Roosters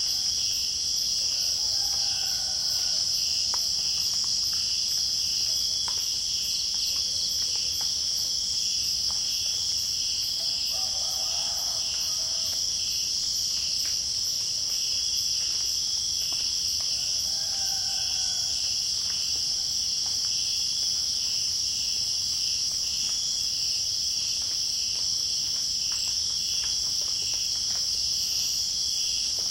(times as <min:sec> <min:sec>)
0:01.3 0:03.7, 0:10.4 0:12.6, 0:16.8 0:19.7